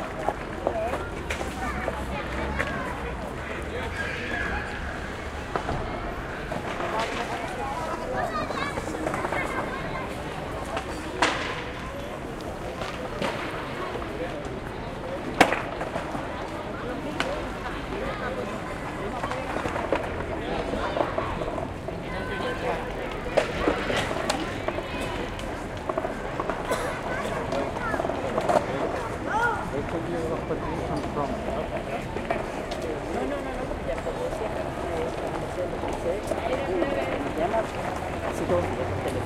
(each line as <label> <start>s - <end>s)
adults talk 0.0s - 39.2s
noises from vehicles 0.0s - 39.2s
skaters jump all around 0.0s - 39.2s
kids play 0.2s - 33.4s